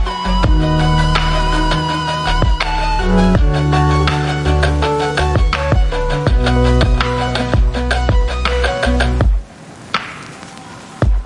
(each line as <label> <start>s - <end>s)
violin 0.0s - 9.4s
rhodes 0.0s - 9.4s
synths 0.0s - 9.4s
piano 0.0s - 9.5s
vinyl 0.0s - 11.2s